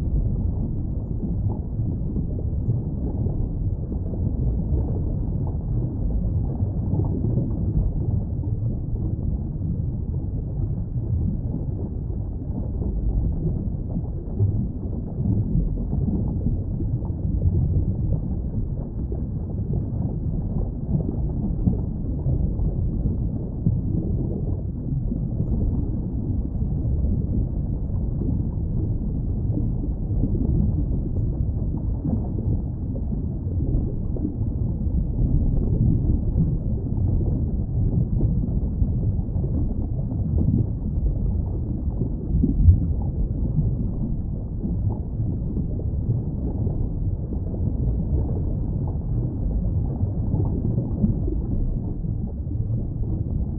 rumble 0.0 - 53.5
bubbles 0.0 - 53.5

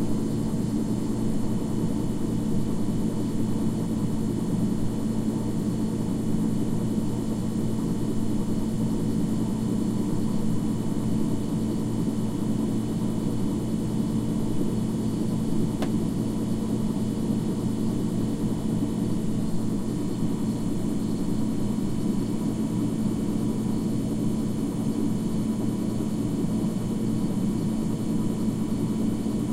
mechanical/electric humming of an Xbox 360 0.0 - 29.5

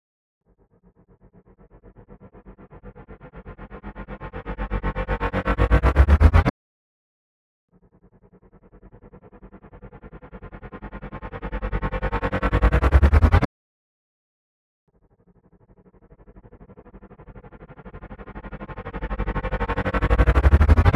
tremolo riser braam 2.0 - 6.5
tremolo riser braam 9.1 - 13.5
tremolo riser braam 16.2 - 20.9

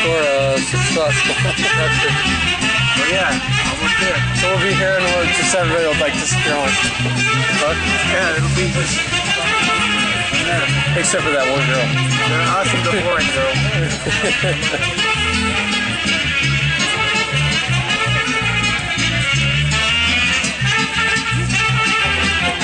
Saxophone plays 0.0 - 22.6

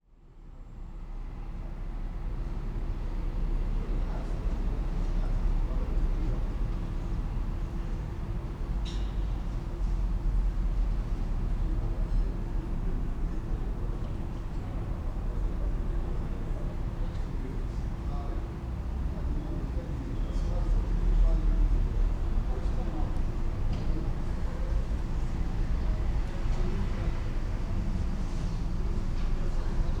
people 11.2 - 30.0

